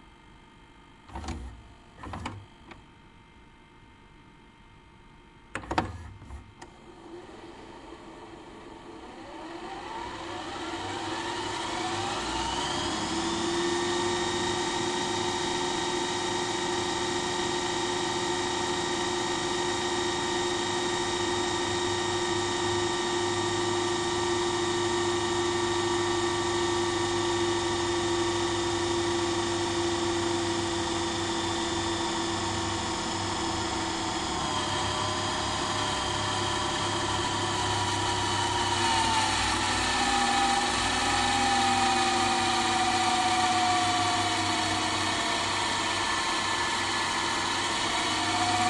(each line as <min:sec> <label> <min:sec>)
0:01.1 rewind 0:02.4
0:01.1 DVD Recorder VCR Combo 0:02.8
0:05.6 DVD Recorder VCR Combo 0:06.8
0:07.0 rewind 0:48.6